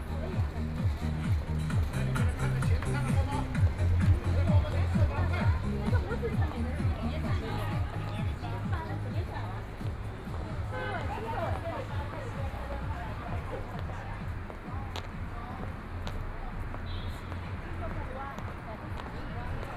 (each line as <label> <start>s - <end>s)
Footsteps 0.0s - 19.7s
Traffic Sound 0.0s - 19.7s
crowd 0.0s - 19.7s